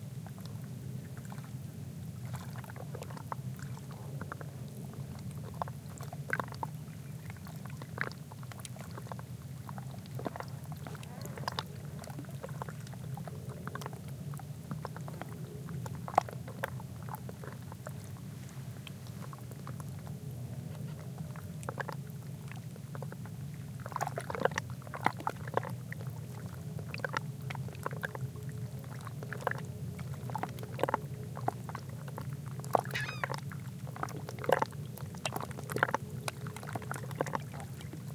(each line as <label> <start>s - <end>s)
waves splashing very softly 14.7s - 21.0s
bird calls 32.9s - 33.4s